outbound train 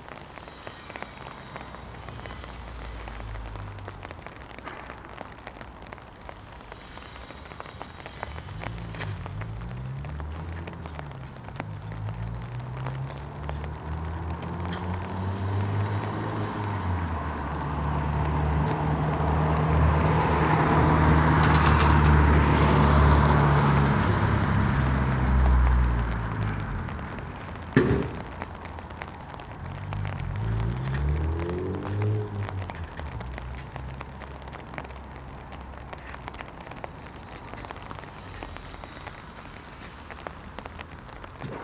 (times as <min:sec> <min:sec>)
0:00.0 0:11.8